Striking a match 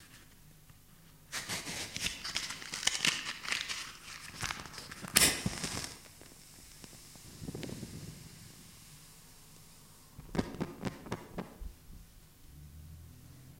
0:01.3 0:08.6

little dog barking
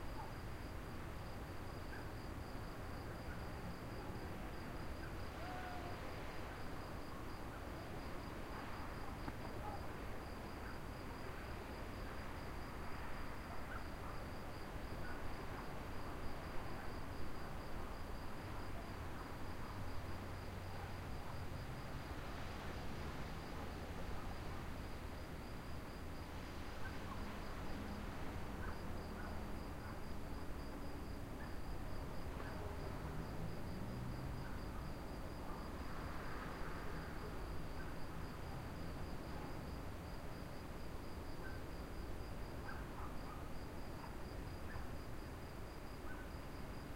0:42.6 0:44.9

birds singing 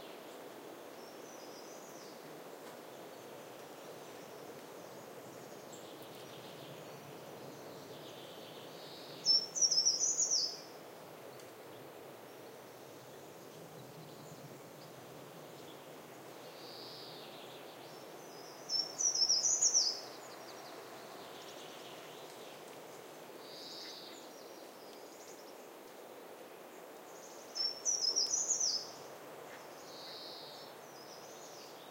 0:05.4 0:10.7, 0:16.6 0:22.4, 0:27.1 0:31.9

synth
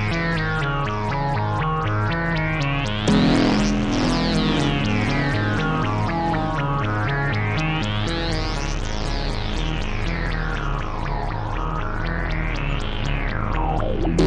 0:03.1 0:09.6

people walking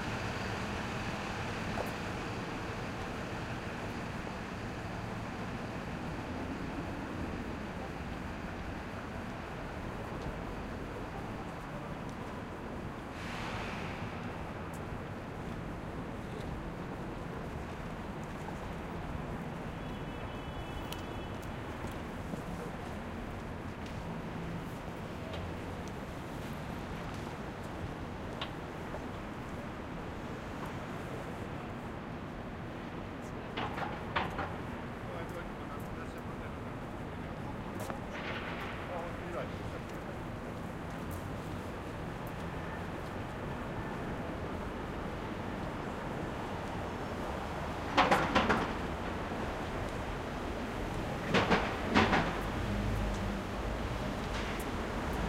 0:36.9 0:47.6

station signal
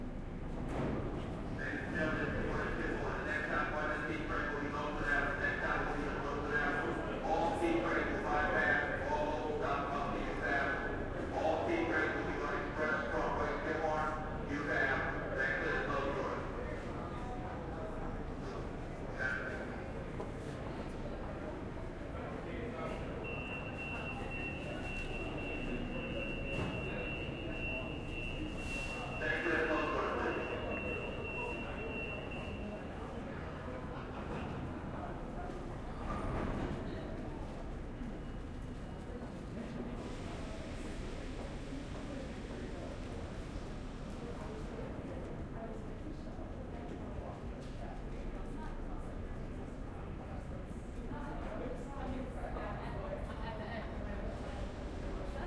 0:23.2 0:33.0

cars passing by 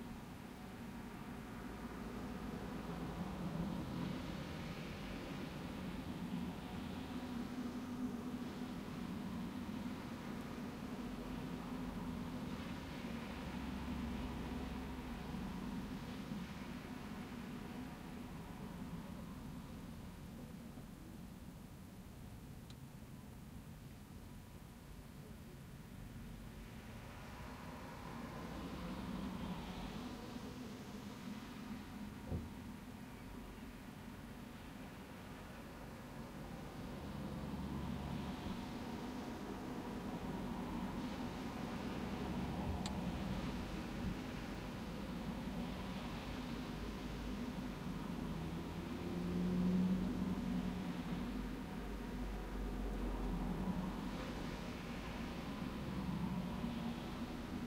0:36.6 0:57.6

